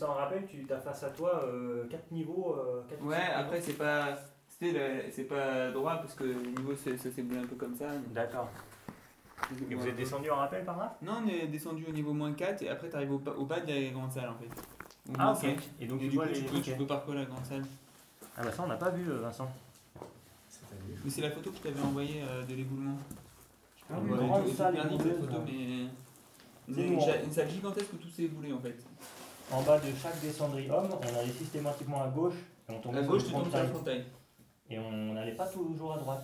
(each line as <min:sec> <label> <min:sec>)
0:14.4 water is falling on rocks 0:16.0